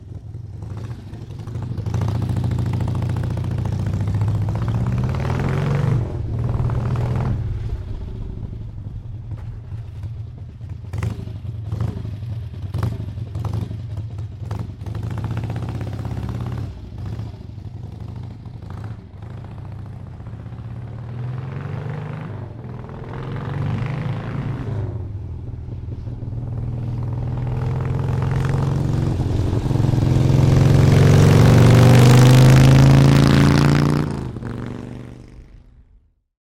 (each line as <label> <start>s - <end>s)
Motorcycle 0.0s - 36.3s